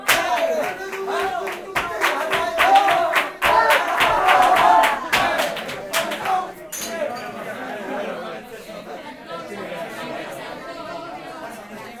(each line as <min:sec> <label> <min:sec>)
0:00.0 hand clapping 0:07.0
0:00.0 dancing 0:07.1
0:00.0 improvised flamenco party 0:12.0